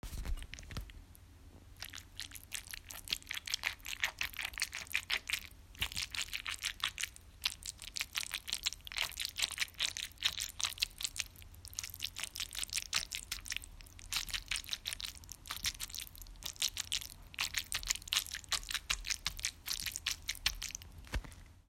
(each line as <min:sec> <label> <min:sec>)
0:01.8 wet, slimy squelching sound 0:21.4